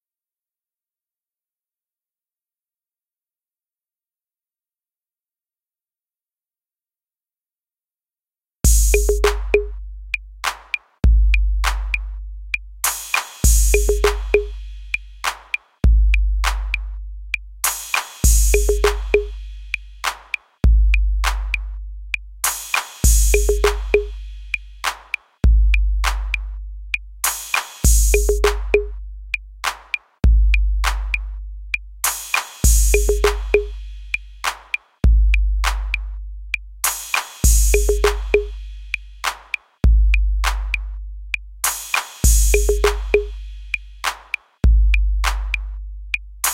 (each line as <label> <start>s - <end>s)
TR-808 Beat 8.7s - 46.5s